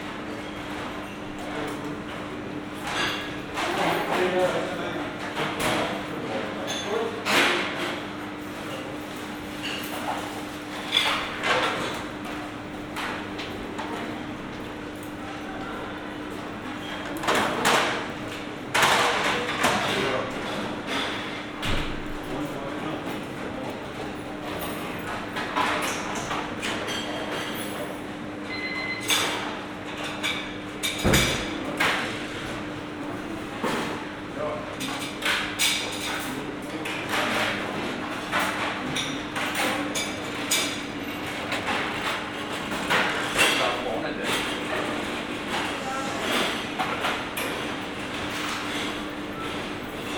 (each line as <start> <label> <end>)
0.0 busy staff members, guests 50.1